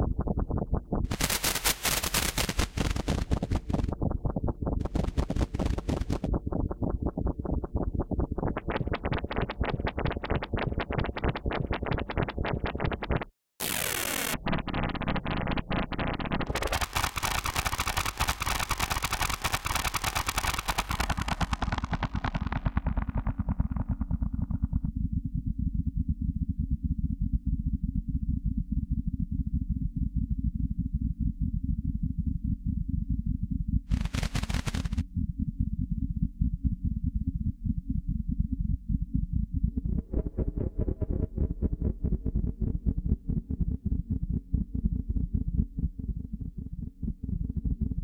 scientific glitches 13.6 - 14.5
scientific glitches 16.4 - 22.5

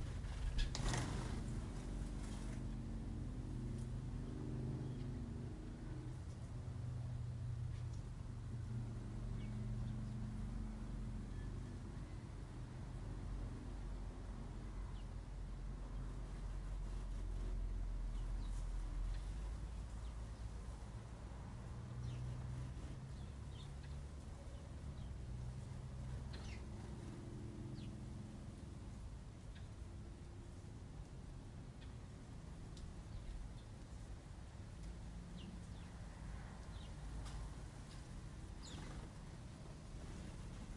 Sparrows 0.0 - 2.8
Sparrows 15.9 - 20.9
Sparrows 21.8 - 29.8
Sparrows 33.0 - 34.0
Sparrows 34.8 - 40.7

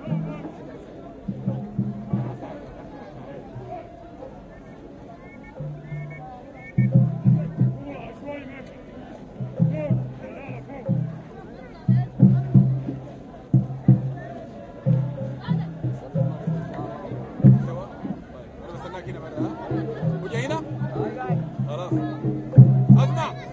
soufi chant & dance 0.0 - 23.5

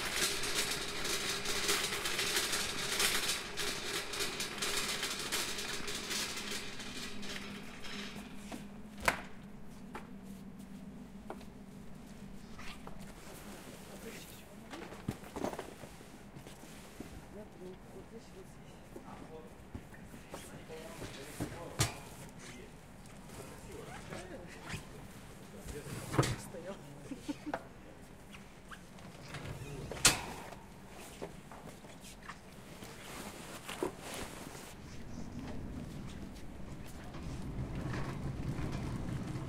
pushcart 0.0 - 8.8
pushcart 28.7 - 31.3
pushcart 32.0 - 39.4

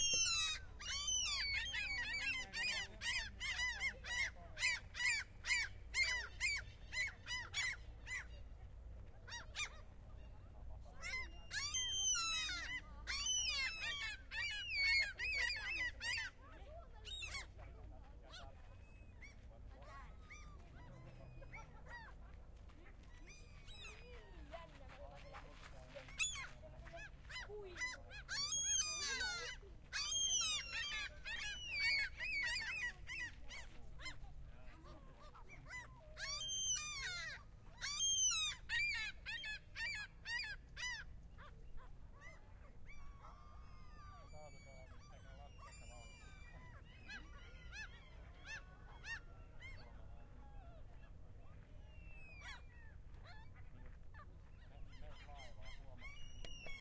people 0.0 - 56.8

